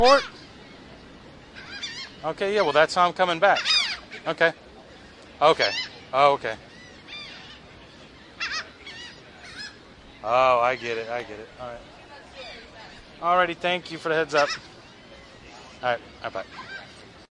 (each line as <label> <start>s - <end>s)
seagull 0.0s - 0.4s
seagull 1.5s - 2.9s
seagull 3.5s - 4.4s
seagull 5.5s - 6.0s
seagull 6.7s - 9.8s
seagull 14.2s - 17.0s